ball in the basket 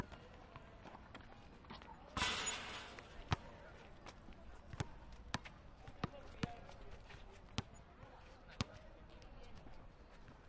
2.2s 3.4s

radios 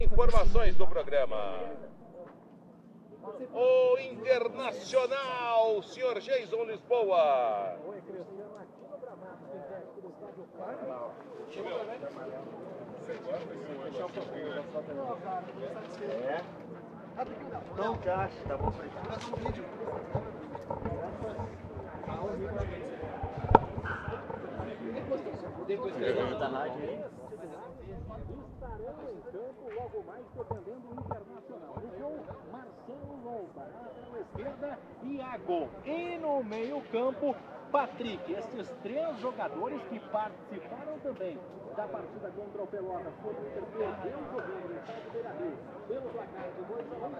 0.0s 1.9s

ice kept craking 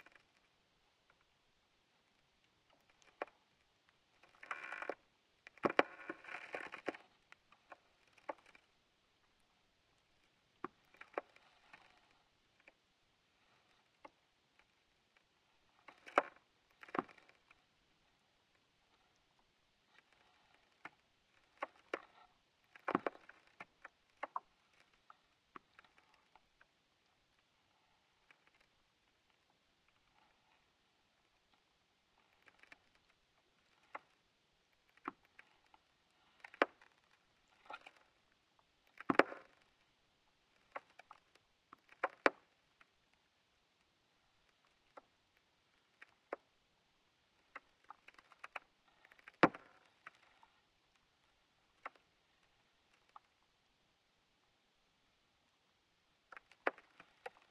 4.3s 7.1s

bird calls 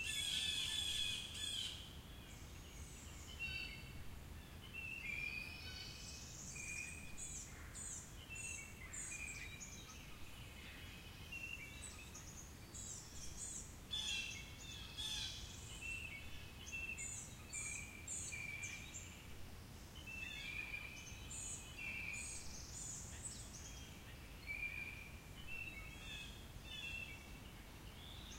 0.0s 4.0s

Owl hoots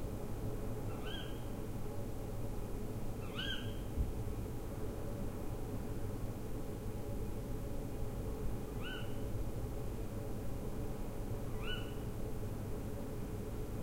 0.9s 1.5s, 3.2s 3.9s, 8.8s 9.2s, 11.5s 12.0s

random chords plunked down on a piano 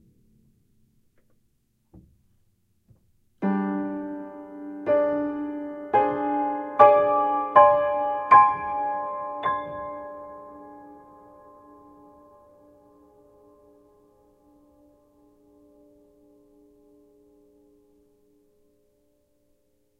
1.9s 13.9s

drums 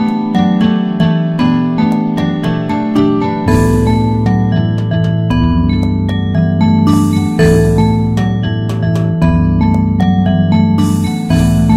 3.5s 9.9s, 10.6s 11.7s

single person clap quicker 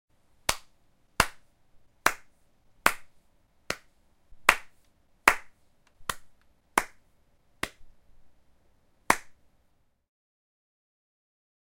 4.5s 7.0s, 9.1s 9.4s

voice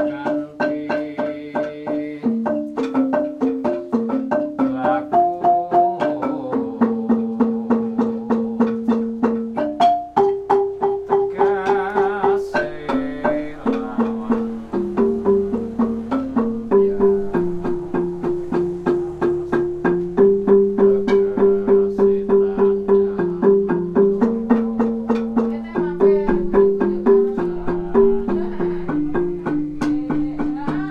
25.4s 30.9s

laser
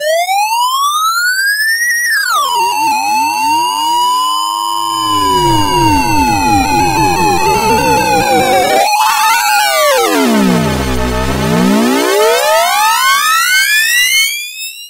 2.4s 12.6s

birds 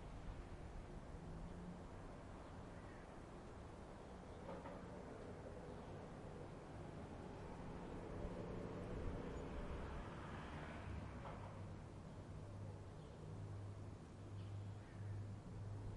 14.2s 15.9s

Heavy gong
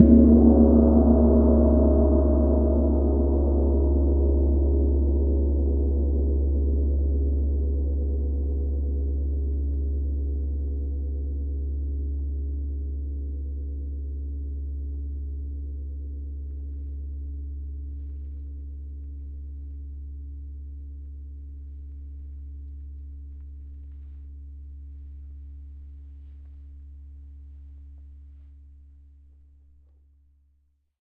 0.0s 11.9s

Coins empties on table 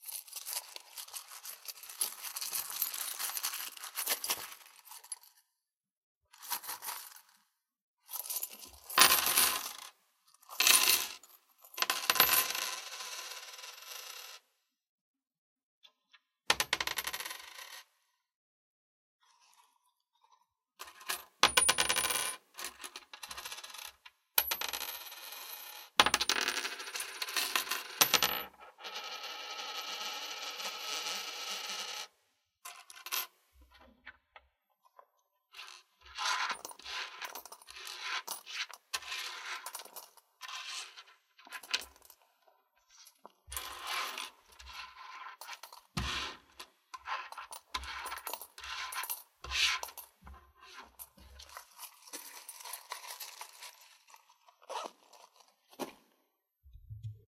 11.8s 14.3s, 16.6s 17.8s, 21.4s 22.4s, 24.4s 32.0s, 45.4s 50.0s, 51.2s 54.2s

